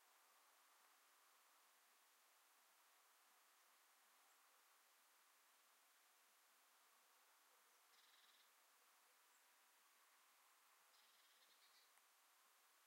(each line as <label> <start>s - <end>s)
birds 7.6s - 12.1s